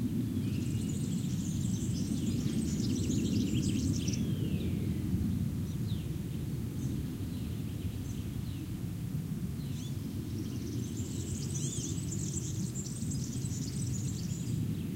airplane overheads the scrub 0:00.0 - 0:14.9
birds singing 0:00.1 - 0:08.8
birds singing 0:09.6 - 0:14.9

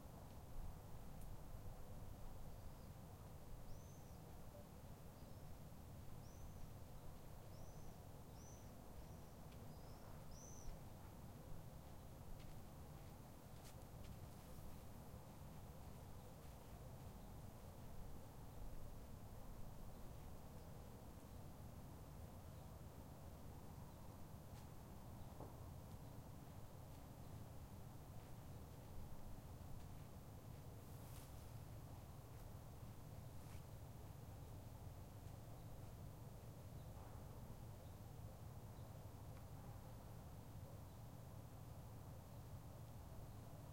birds 0:06.2 - 0:14.9

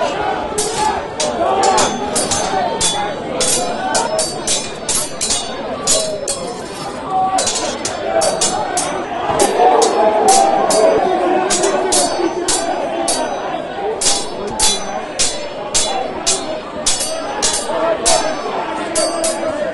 clanging their swords together 0:00.0 - 0:19.6
angry men shouting at each other 0:00.0 - 0:19.7

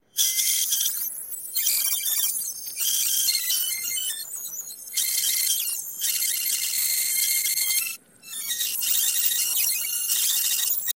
reel to reel tape recorder being rewound 0:00.2 - 0:10.9

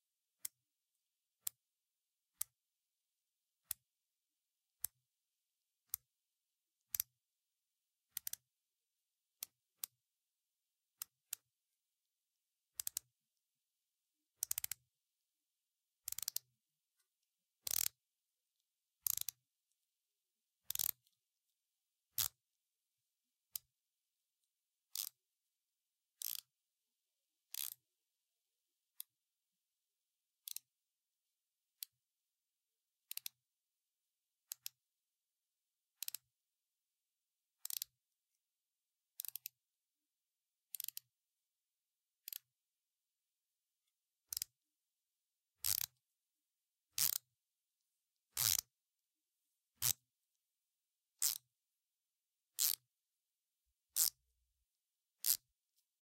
twisting the end of a pen of Novolog insulin 0:45.6 - 0:46.0
twisting the end of a pen of Novolog insulin 0:47.0 - 0:47.2
twisting the end of a pen of Novolog insulin 0:48.4 - 0:48.7
twisting the end of a pen of Novolog insulin 0:51.2 - 0:51.5
twisting the end of a pen of Novolog insulin 0:52.5 - 0:52.8
twisting the end of a pen of Novolog insulin 0:53.9 - 0:54.2
twisting the end of a pen of Novolog insulin 0:55.2 - 0:55.5

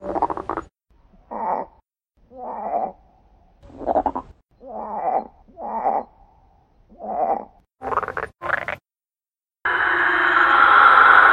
frogs 0:07.0 - 0:08.8

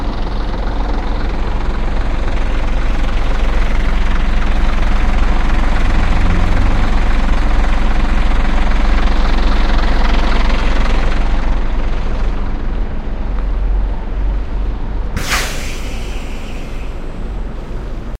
idle bus engine 0:00.0 - 0:18.1
pressure being released 0:15.2 - 0:17.2

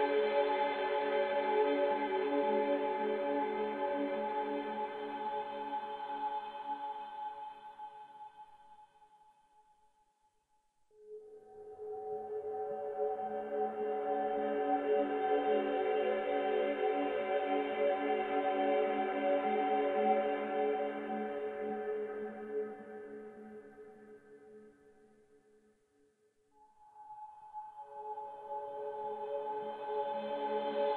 synthesizer 0:00.0 - 0:08.7
synthesizer 0:10.9 - 0:25.1
synthesizer 0:26.6 - 0:30.9

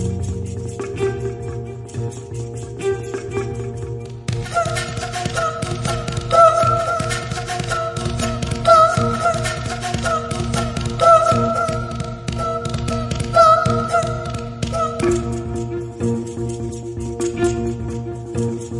Bass 0:00.0 - 0:18.7
Violin 0:00.0 - 0:18.7
Vocal 0:04.4 - 0:15.7
Flute 0:04.4 - 0:16.1

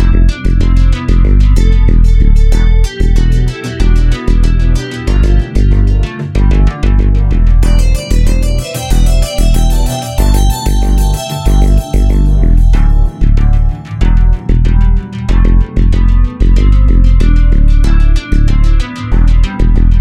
Bass 0:00.0 - 0:20.0
Drums 0:00.0 - 0:20.0
Synth 0:06.5 - 0:15.0

